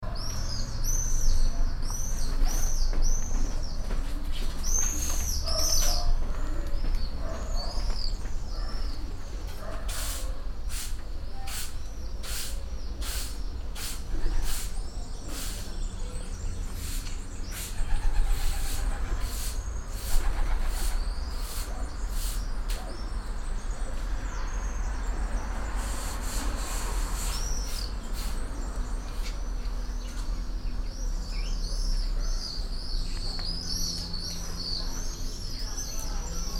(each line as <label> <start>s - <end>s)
traffic from the distance 0.0s - 36.5s
woman cleaning the road 9.8s - 15.8s
very close swallow 9.9s - 15.8s
woman cleaning the road 25.6s - 29.4s
very close swallow 25.8s - 29.4s